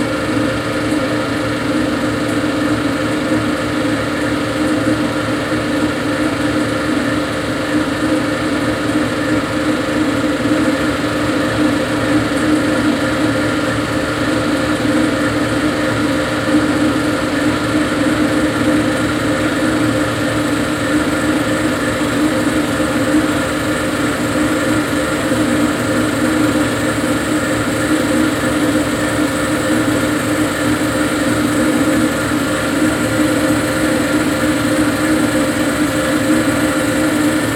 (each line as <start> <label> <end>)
0.0 35mm projector 37.5